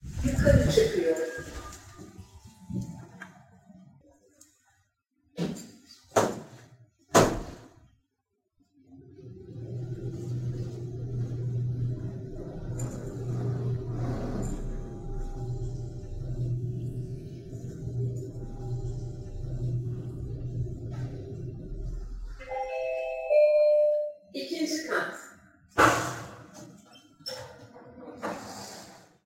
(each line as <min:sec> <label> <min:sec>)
0:00.0 elevator ride 0:04.0
0:08.9 elevator ride 0:24.1
0:22.4 elevator bell 0:24.3